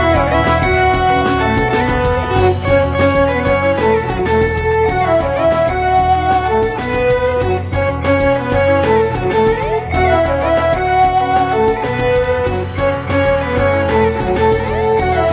bass 0.0 - 15.3
drums 0.0 - 15.3
flute 0.0 - 15.3
guitar 0.0 - 15.3

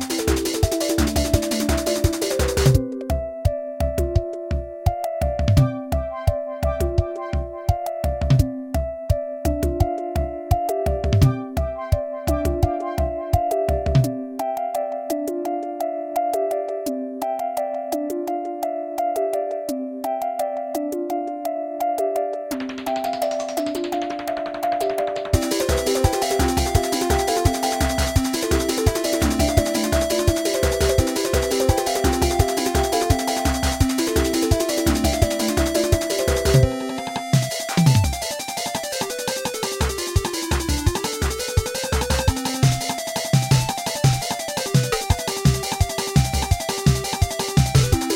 drums 0.0 - 14.2
drums 22.5 - 48.1
synth 22.5 - 48.1

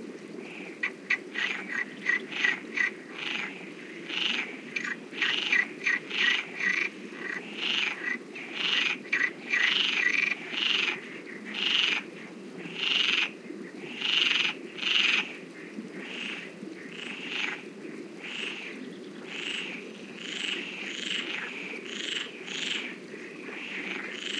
river 0.0 - 24.3
Frogs croacking 0.4 - 24.3

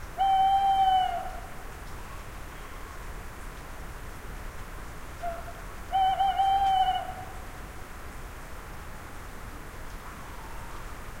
owl 5.2 - 7.2

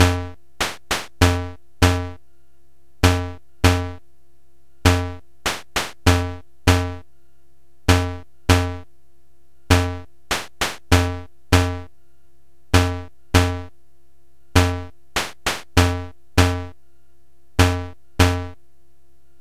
drums 0.0 - 2.1
drums 5.0 - 6.9
drums 9.8 - 11.8
drums 14.6 - 16.7

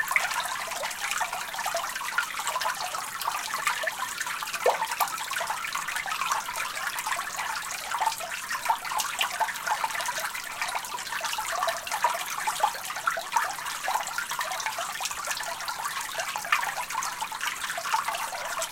stream recorded flowing under a bridge 0.0 - 18.7

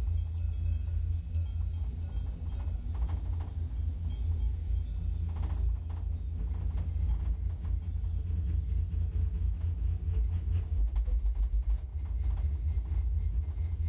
cow bell 0.0 - 8.8

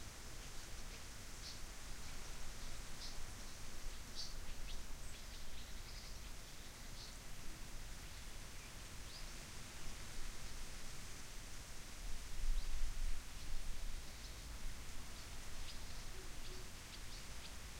wind 0.0 - 17.7
birds 14.1 - 17.7

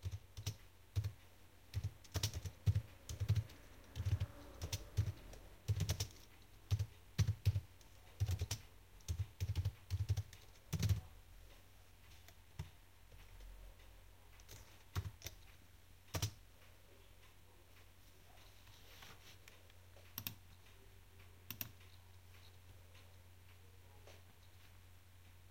typing at the laptop keyboard 0.0 - 11.1
typing at the laptop keyboard 14.4 - 16.4
typing at the laptop keyboard 20.1 - 20.4
typing at the laptop keyboard 21.5 - 21.8

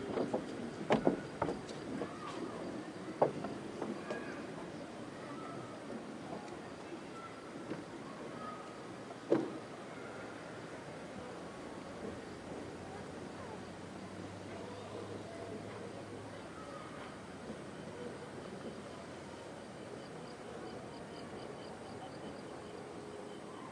crickets 0.0 - 4.6
crickets 17.0 - 23.7

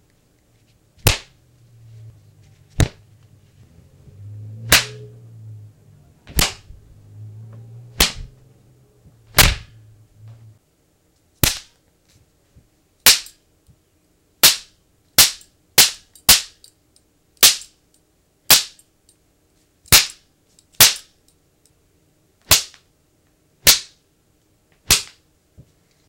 slap 1.0 - 1.4
whip 1.0 - 1.4
punch 1.0 - 1.4
slap 2.7 - 3.0
punch 2.8 - 3.0
whip 2.8 - 3.0
slap 4.6 - 5.1
punch 4.7 - 5.0
whip 4.7 - 5.1
slap 6.3 - 6.7
whip 6.3 - 6.7
punch 6.3 - 6.7
punch 8.0 - 8.3
whip 8.0 - 8.3
slap 8.0 - 8.4
punch 9.3 - 9.8
slap 9.3 - 9.8
whip 9.3 - 9.8
slap 11.4 - 11.8
punch 11.4 - 11.7
whip 11.4 - 11.8
slap 13.1 - 13.4
whip 13.1 - 13.4
slap 14.4 - 16.6
whip 14.4 - 16.6
slap 17.4 - 17.7
whip 17.4 - 17.7
slap 18.5 - 18.8
whip 18.5 - 18.8
slap 19.9 - 20.2
whip 19.9 - 20.2
slap 20.8 - 21.1
whip 20.8 - 21.1
slap 22.5 - 22.8
whip 22.5 - 22.8
punch 22.5 - 22.7
slap 23.6 - 24.0
whip 23.6 - 24.0
slap 24.8 - 25.2
punch 24.9 - 25.2
whip 24.9 - 25.2

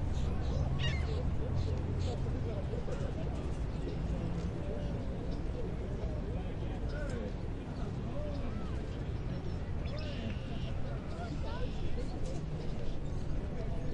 birds 0.0 - 5.9
birds 6.8 - 13.9

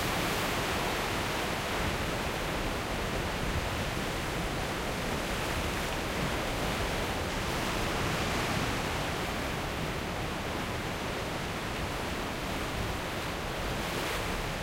waves 0.0 - 14.6

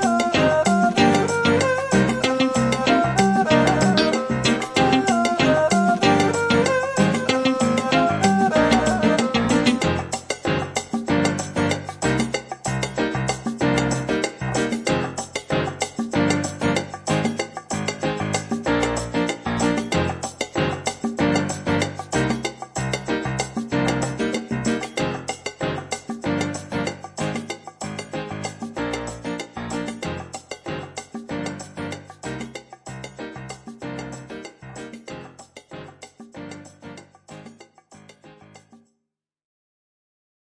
guitar 0.0 - 35.9
piano 0.0 - 38.9

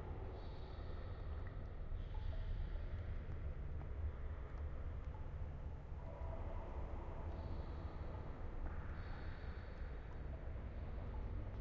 Water 0.0 - 11.6

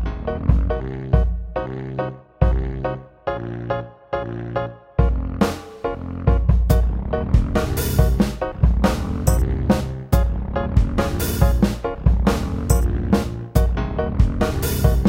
drums 0.0 - 1.6
Bass 0.0 - 15.0
saxophone 0.0 - 15.0
drums 5.0 - 15.0

